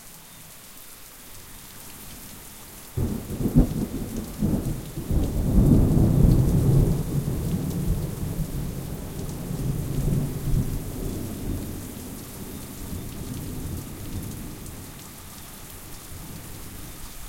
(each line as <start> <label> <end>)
0.0 falling rain 17.2
3.0 thunderbolts of varying intensity 11.9